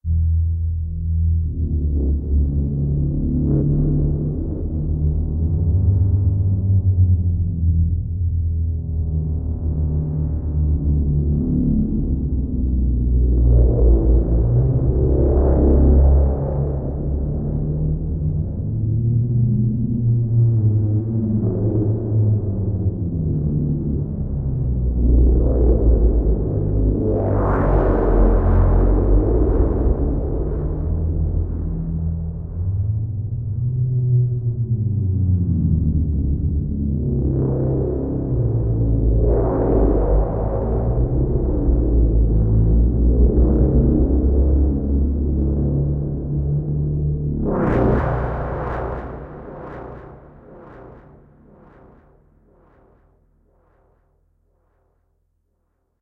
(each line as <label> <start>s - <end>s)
drone 0.0s - 55.2s